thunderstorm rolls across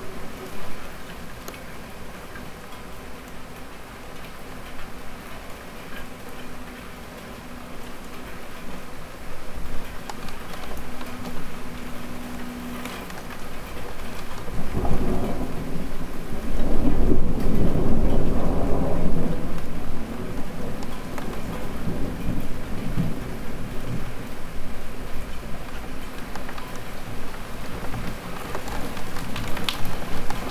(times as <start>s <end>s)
9.7s 30.5s